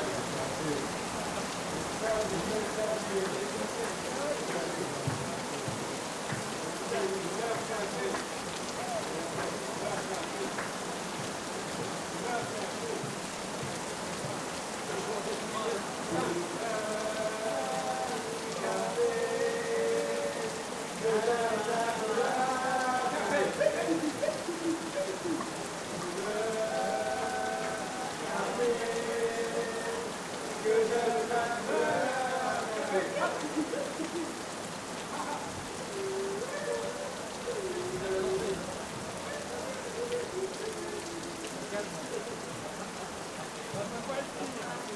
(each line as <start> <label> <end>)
0.0 rainy night 44.9